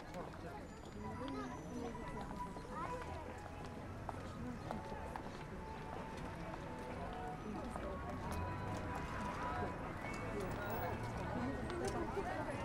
0.0s everyone is walking 12.6s

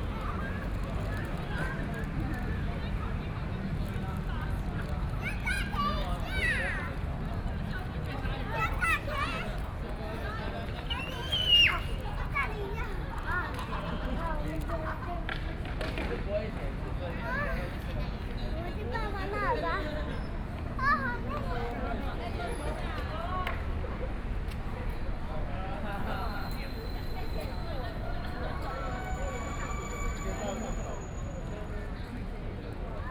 12.6s young people are practicing skateboard and dance 17.8s

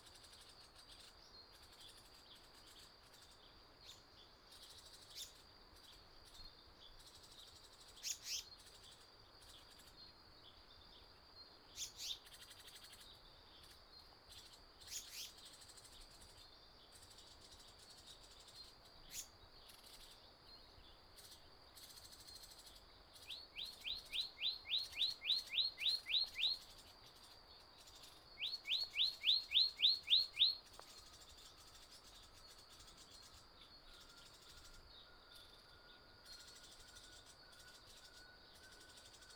0.0s Insect noise 39.3s
27.8s Various bird calls 34.7s

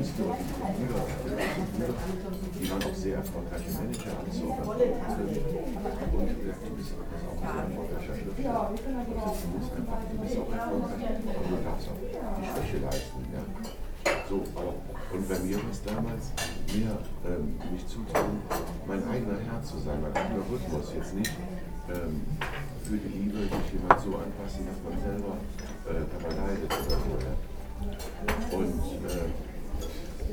0.0s conversation on the table near by 30.3s

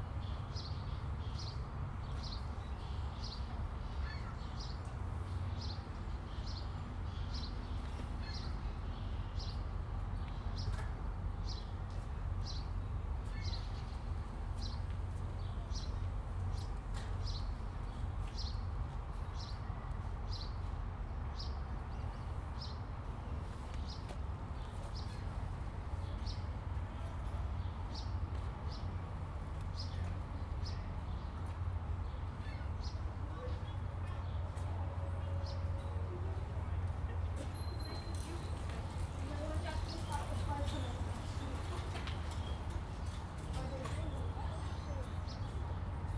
0.0s boats 46.1s
36.8s Bikes 46.1s

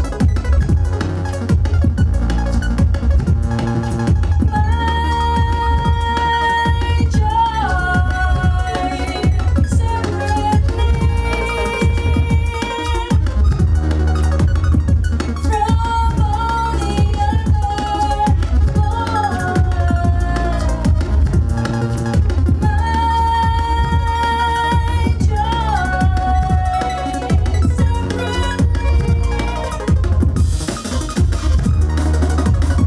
4.4s singer 14.5s
15.4s singer 31.0s

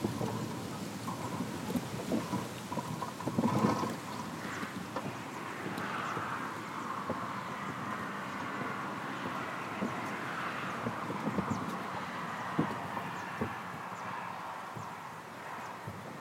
0.0s old metal signpost 16.2s
0.0s wind in the vegetation 16.2s

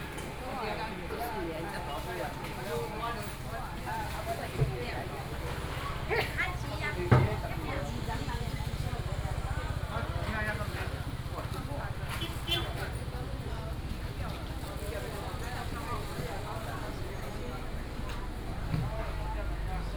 0.0s Walking through the traditional market 19.9s
5.2s Traffic Sound 19.9s

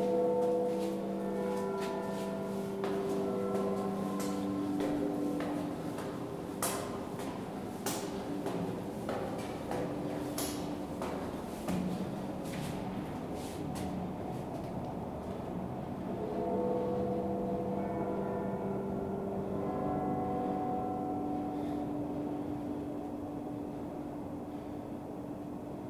0.0s Carillon Bells toll and play music 7.2s

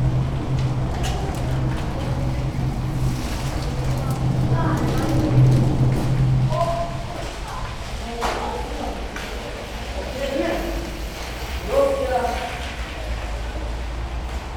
0.0s cyclists 14.5s
0.0s pedestrians 14.5s
0.0s rythmic sound of cars from above 14.5s

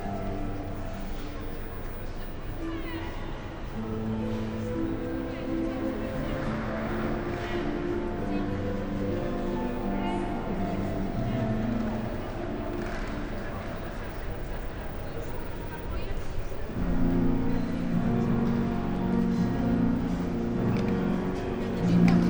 0.0s people exercising on a public piano 22.2s

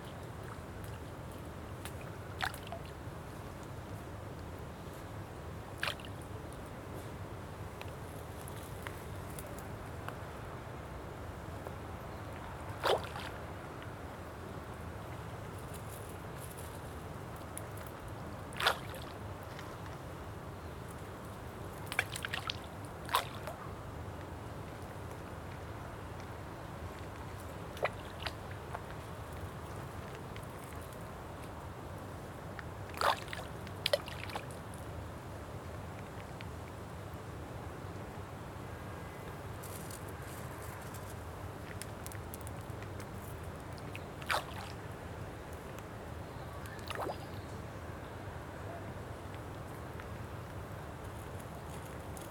0.0s Water 52.3s

